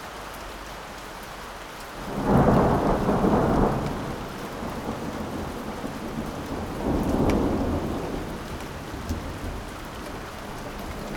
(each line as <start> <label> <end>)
0.0 spring rain 11.1
2.1 thunder 9.8